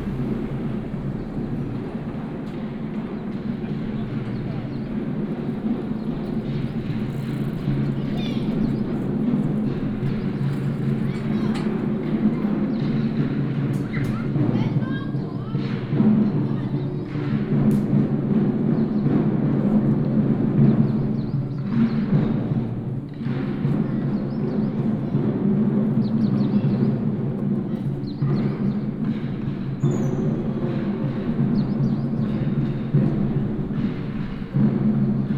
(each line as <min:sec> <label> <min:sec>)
0:00.0 Walk outside the school 0:35.3
0:00.0 traffic sound 0:35.3